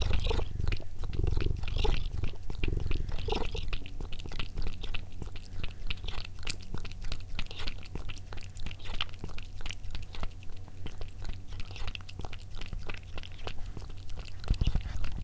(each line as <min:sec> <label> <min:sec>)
0:00.0 cat purring 0:15.2